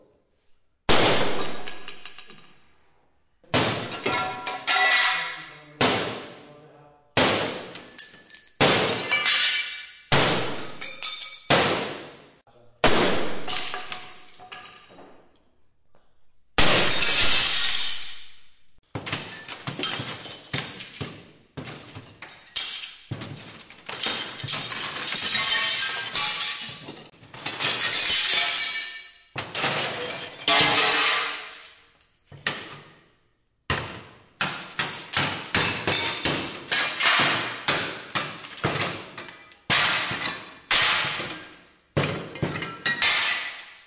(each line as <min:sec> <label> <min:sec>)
0:03.5 Breaks huge mirrors 0:06.4
0:07.2 Breaks huge mirrors 0:14.8
0:16.6 Breaks huge mirrors 0:33.0
0:33.7 Breaks huge mirrors 0:43.8